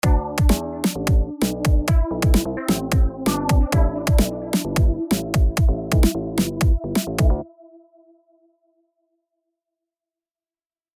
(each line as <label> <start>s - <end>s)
Little beat 0.0s - 7.4s